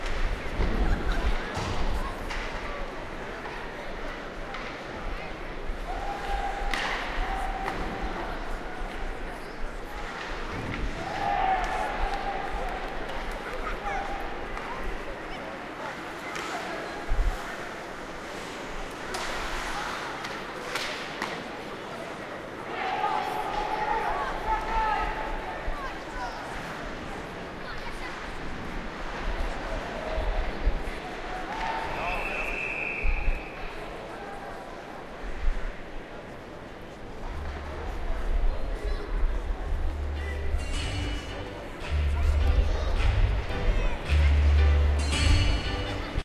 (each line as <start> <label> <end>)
0.0 Hockey Player 23.9
0.0 full stadium of fans watching the game 46.2